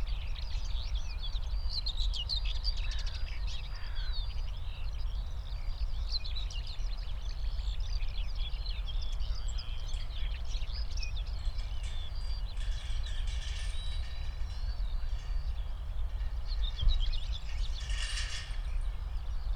0.0s Skylarks 19.5s
2.8s Common whitethroat (Dorngrasmücke, Curruca communis) calling nearby 4.5s
7.3s Nightingale in a distance 19.5s

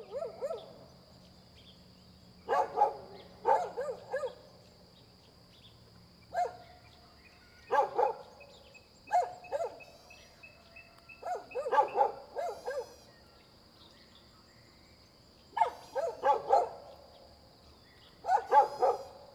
0.0s Dogs barking 0.7s
2.5s Dogs barking 4.4s
7.7s Dogs barking 8.3s
11.2s Dogs barking 13.0s
15.6s Dogs barking 16.8s
18.2s Dogs barking 19.2s

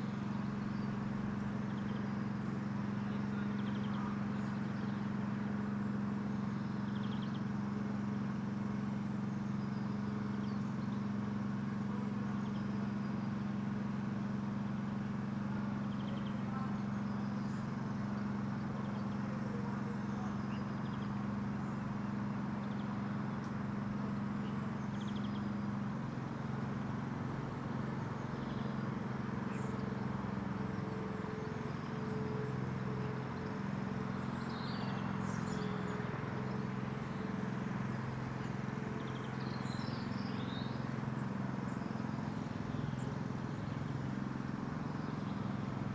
0.0s steady drone from over the broken-down fence 45.9s

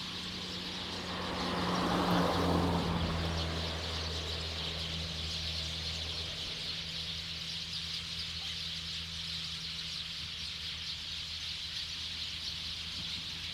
0.0s Traffic Sound 8.3s
0.0s Birdsong 13.5s

